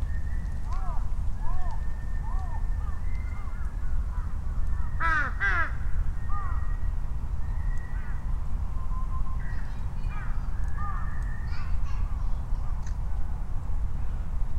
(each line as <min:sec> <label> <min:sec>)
0:00.0 quiet Japanese bush warblers 0:13.5
0:00.0 rumble of vehicles 0:14.5
0:00.7 Noisy crows calling and responding 0:06.9
0:09.4 children playing 0:13.0
0:10.1 Noisy crows calling and responding 0:11.6